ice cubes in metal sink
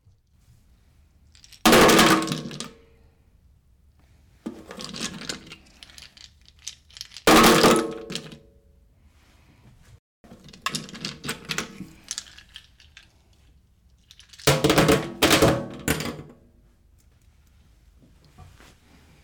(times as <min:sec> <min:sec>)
0:01.4 0:02.7, 0:04.5 0:08.4, 0:10.3 0:13.0